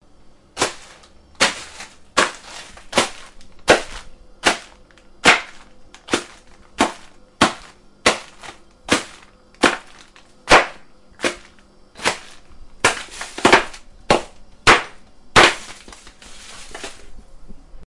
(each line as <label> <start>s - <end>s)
Crashing ice 0.6s - 17.1s